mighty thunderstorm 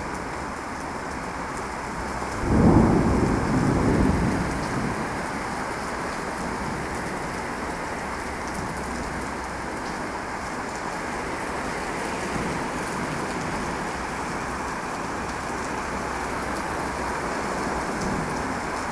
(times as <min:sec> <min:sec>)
0:02.2 0:07.3